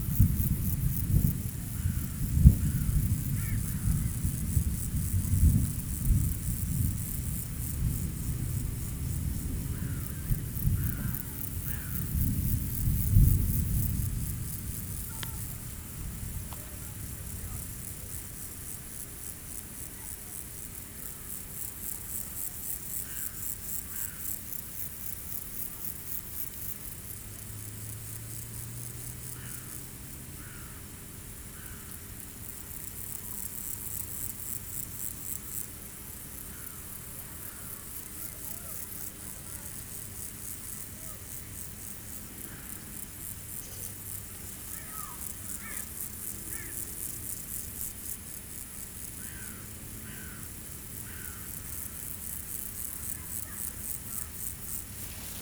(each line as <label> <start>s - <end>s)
mosquitoes 41.8s - 47.6s